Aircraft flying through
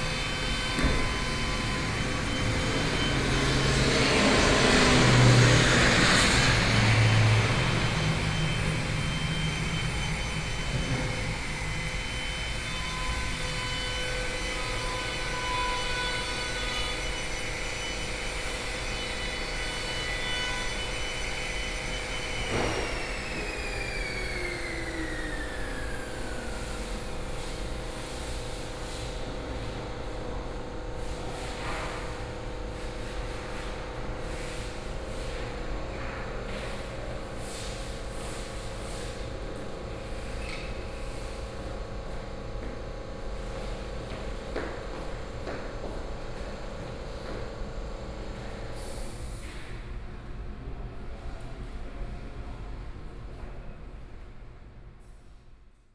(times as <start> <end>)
0.0 11.8